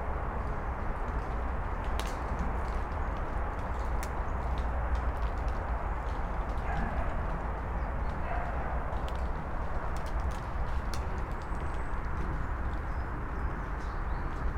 highway traffic 0.0 - 14.5

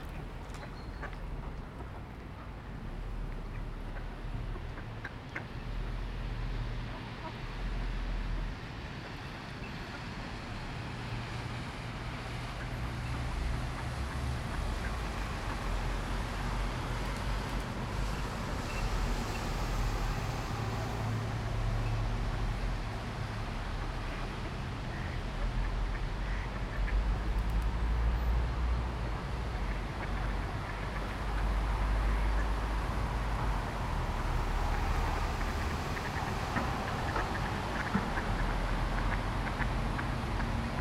cars and busses humming by 0.0 - 40.8
ducks quacking 35.3 - 40.8

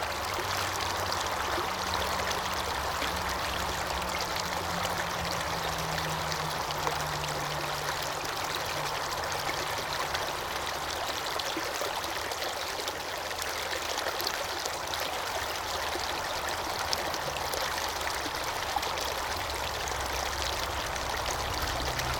stream of traffic 0.0 - 22.1
stream running through the Glen of the Downs 0.0 - 22.1

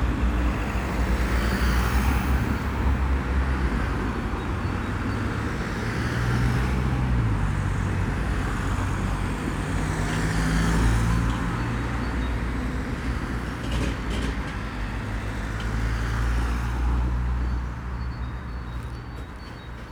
passing train 0.0 - 19.9
traffic 0.0 - 19.9
barriers descend 18.6 - 19.9

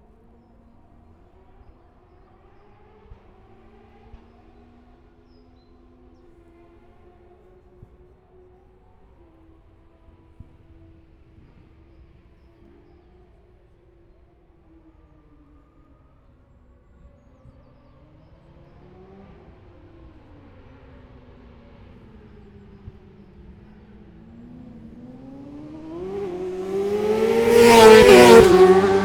motorcycle road racing 17.0 - 29.0

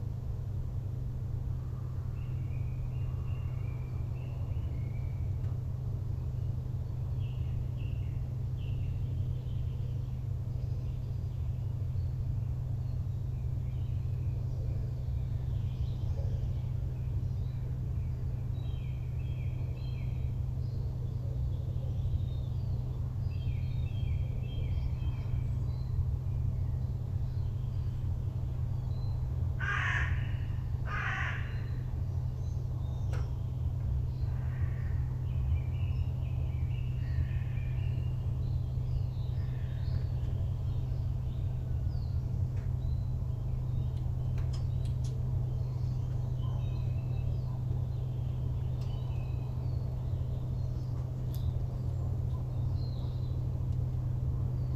planes 0.0 - 54.7
Birds 0.9 - 54.7

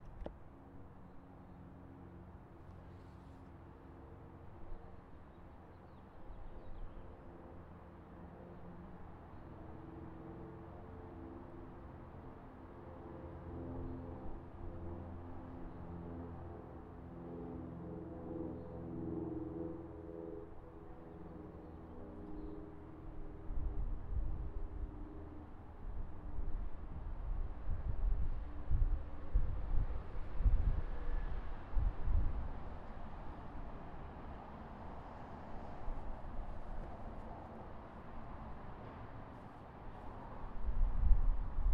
an airplane 0.0 - 41.7

